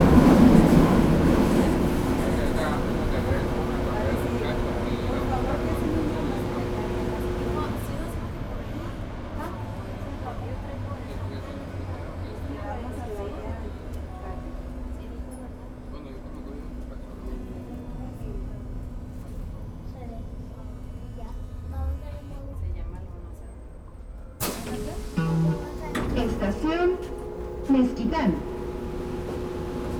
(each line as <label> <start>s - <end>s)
Public address system announcing arrival 24.4s - 29.9s